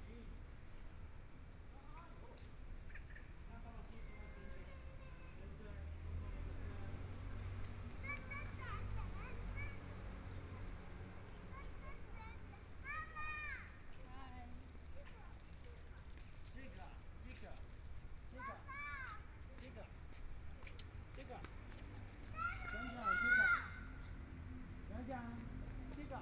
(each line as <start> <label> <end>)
1.0 Parents and kids 26.2